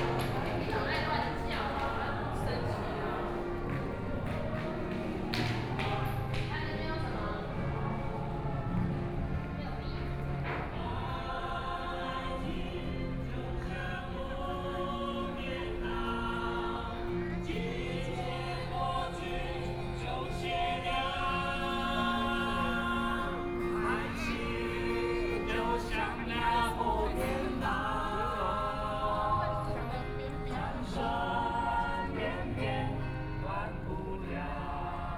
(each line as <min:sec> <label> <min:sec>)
0:00.0 Walking through the park 0:15.6
0:00.0 Tourists 0:35.1
0:00.0 Various shops voices 0:35.1